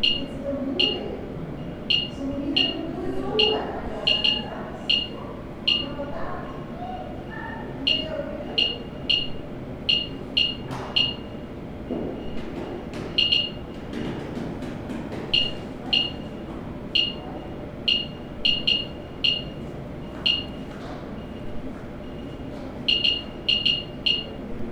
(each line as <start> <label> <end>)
0.0 Geiger counter 1.2
1.8 Geiger counter 6.2
7.8 Geiger counter 11.3
13.2 Geiger counter 13.7
15.4 Geiger counter 19.6
20.3 Geiger counter 20.6
22.9 Geiger counter 24.5